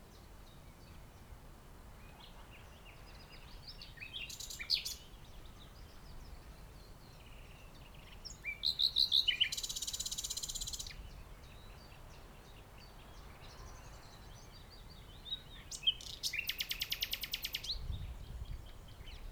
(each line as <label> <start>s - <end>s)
Bird 7.1s - 19.3s